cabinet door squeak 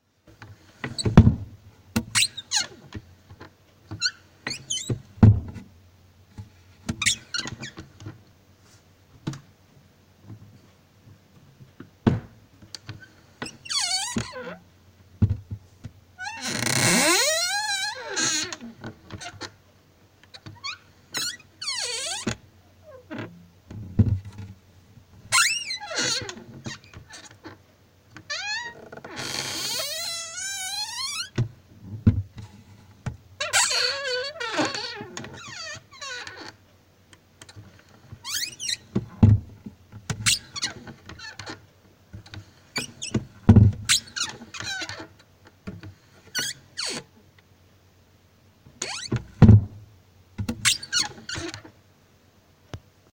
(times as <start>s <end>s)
4.0s 5.5s, 16.2s 18.6s, 25.3s 27.0s, 28.3s 31.4s, 33.4s 36.5s, 38.2s 39.4s, 48.8s 49.8s, 50.6s 51.7s